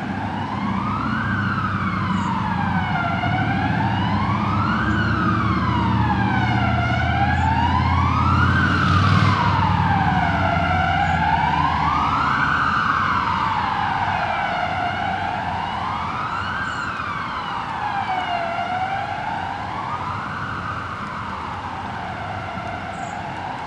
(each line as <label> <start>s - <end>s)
sirens 0.0s - 23.6s